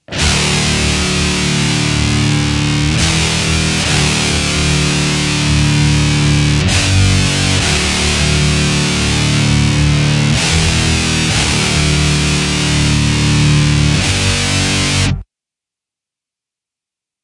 Metal guitar loops 0.0 - 15.2

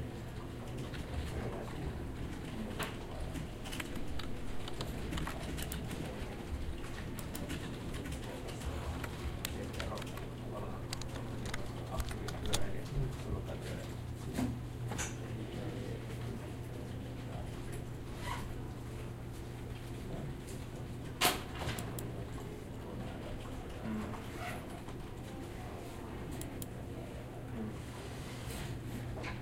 computers 0.0 - 27.8

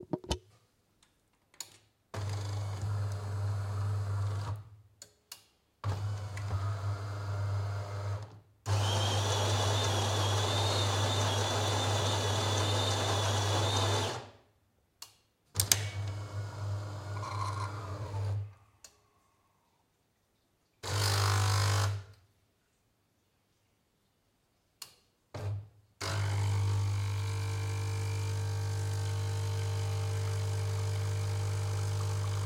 Espresso machine 8.7 - 14.2
Espresso machine 26.1 - 32.4

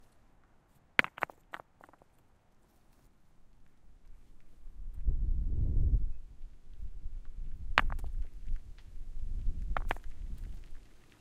small rock being thrown at other small rocks 1.0 - 2.1
small rock being thrown at other small rocks 7.6 - 8.7
small rock being thrown at other small rocks 9.4 - 10.9

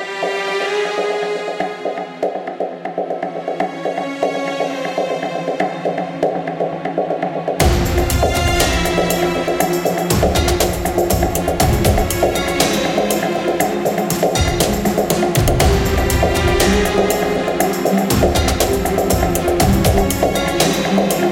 choir 7.6 - 21.3

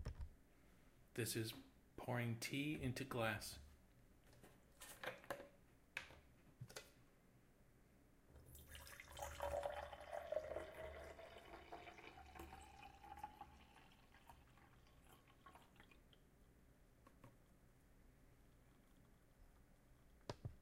Pouring tea into glass 8.5 - 16.1

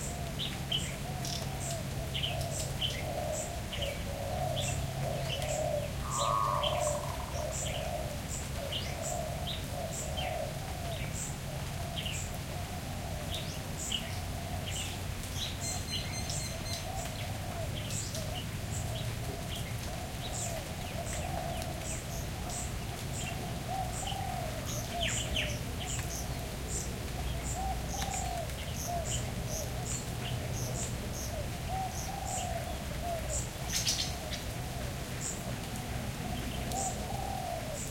Birds 0.0 - 37.9
Rain 0.0 - 37.9
frogs 4.1 - 8.2
Insects 5.4 - 8.1

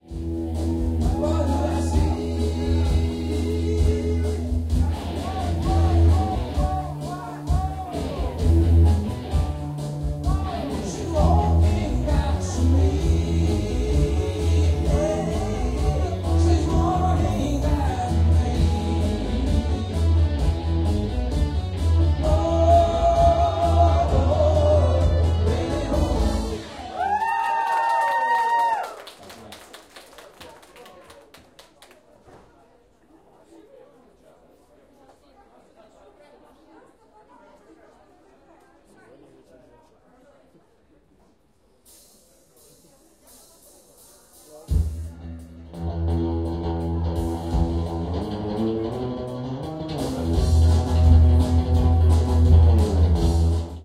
guitar 0.0 - 27.3
People drink and chatting 0.0 - 29.5
End of a song and start a new song 0.2 - 27.2
scream 26.7 - 29.0
applause 26.8 - 32.2
People drink and chatting 30.4 - 53.8
guitar 44.7 - 53.8

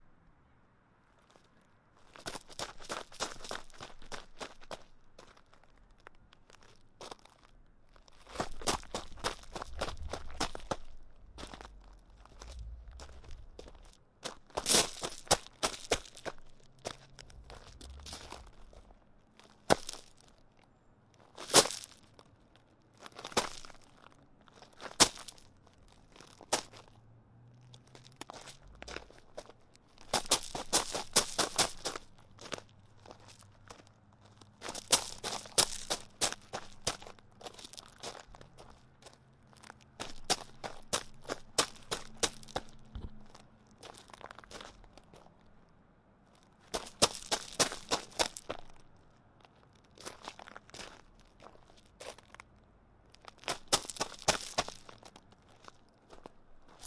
Rapid Footsteps Upon Gravel 1.2 - 20.5
Rapid Footsteps Upon Gravel 21.2 - 27.0
Rapid Footsteps Upon Gravel 27.7 - 45.5
Rapid Footsteps Upon Gravel 46.3 - 52.5
Rapid Footsteps Upon Gravel 53.1 - 56.8

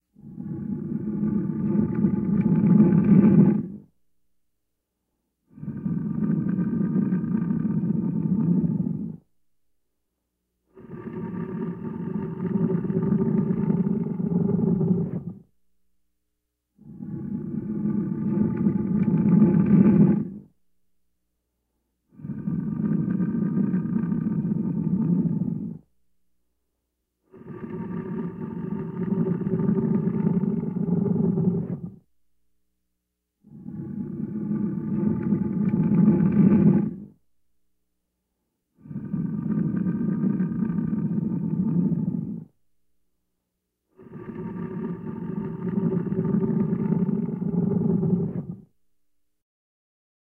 Deep growling rumble 0.2 - 3.8
Deep growling rumble 5.5 - 9.2
Deep growling rumble 10.8 - 15.5
Deep growling rumble 16.8 - 20.5
Deep growling rumble 22.2 - 25.9
Deep growling rumble 27.4 - 32.0
Deep growling rumble 33.5 - 37.1
Deep growling rumble 44.4 - 48.6

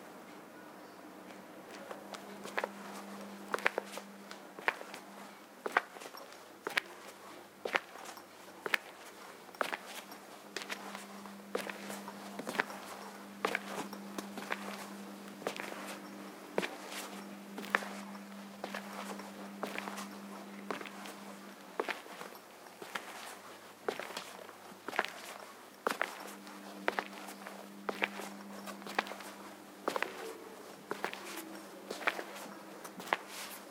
background noise 0.0 - 33.7
footsteps of a male walking on a tile floor 1.3 - 33.7

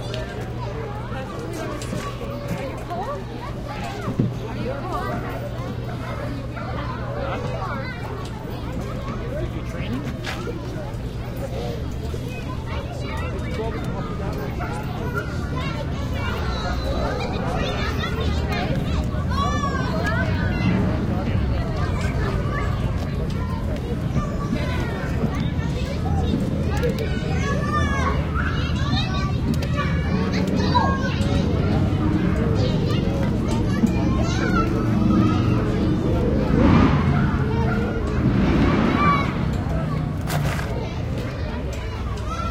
Kids Playing 0.0 - 42.5

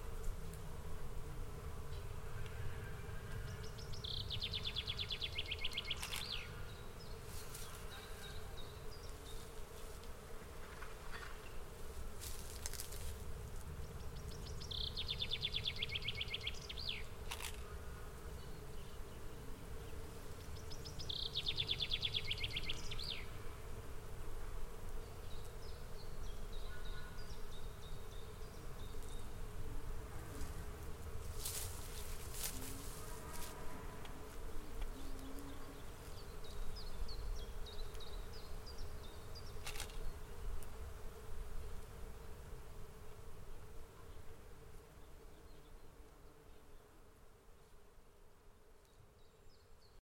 bees 0.0 - 50.0
birds 1.8 - 40.8

